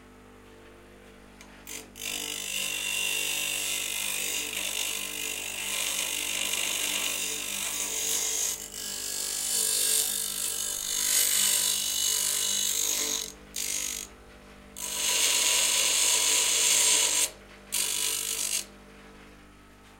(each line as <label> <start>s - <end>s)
table grinder grinding a piece of steel 1.6s - 14.1s
table grinder grinding a piece of steel 14.8s - 18.7s